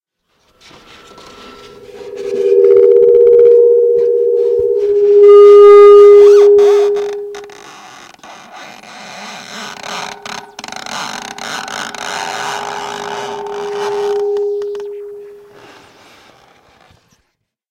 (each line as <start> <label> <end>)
0.6 feedback 7.7
11.4 feedback 15.5